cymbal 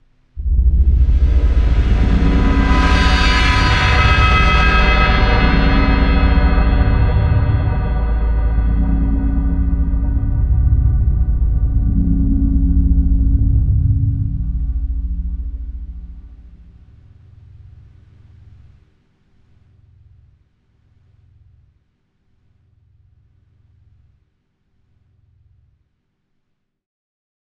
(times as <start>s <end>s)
0.4s 17.3s